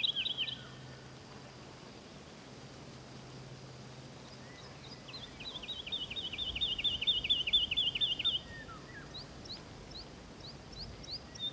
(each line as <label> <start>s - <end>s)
song of the Woodlark 0.0s - 1.0s
light breeze hissing the leaves in the birch and beach trees 0.0s - 11.5s
song of the Woodlark 4.3s - 11.5s